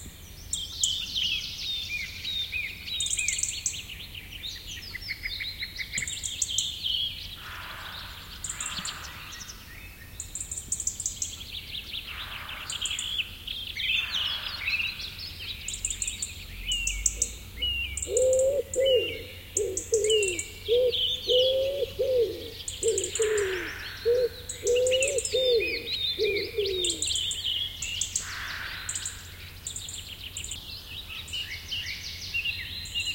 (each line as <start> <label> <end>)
0.2 other birds in the bg 33.1
18.0 wood pigeon hooting 27.2